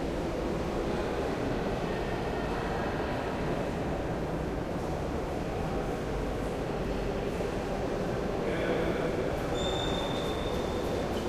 distant crowd 0:08.6 - 0:11.2

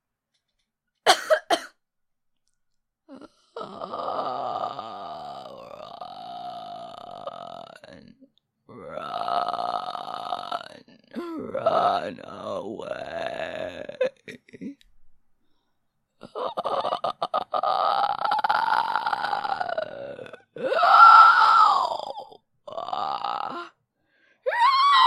Coughing sounds 0:01.0 - 0:01.8

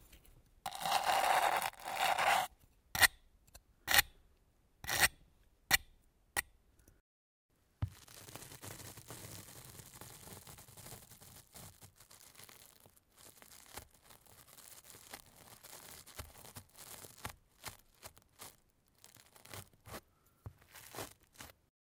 brush 0:00.7 - 0:02.5

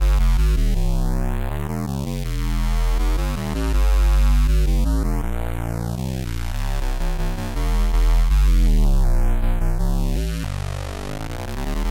square bass, flanged 0:00.0 - 0:11.9

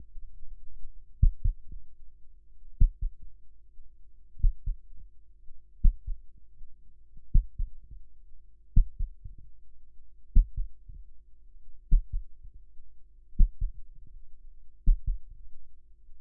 imitative heartbeat 0:01.1 - 0:01.9
imitative heartbeat 0:02.8 - 0:03.4
imitative heartbeat 0:04.3 - 0:05.0
imitative heartbeat 0:05.8 - 0:06.4
imitative heartbeat 0:07.3 - 0:09.6
imitative heartbeat 0:10.3 - 0:11.1
imitative heartbeat 0:11.8 - 0:12.7
imitative heartbeat 0:13.4 - 0:14.2
imitative heartbeat 0:14.8 - 0:15.5

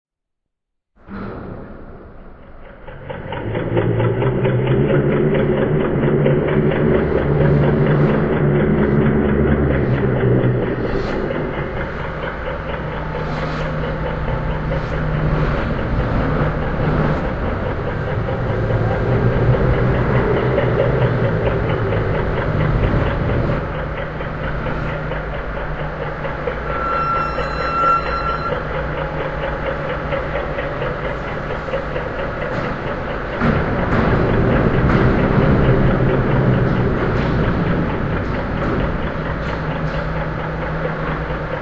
drone 0:01.0 - 0:41.6

